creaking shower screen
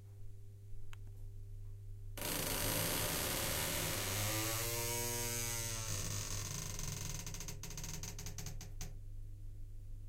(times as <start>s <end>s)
2.2s 8.9s